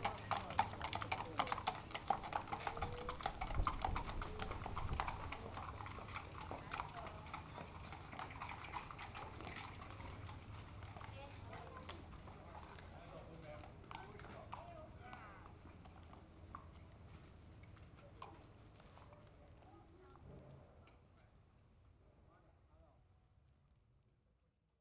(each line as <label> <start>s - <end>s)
horses arrive 0.0s - 21.4s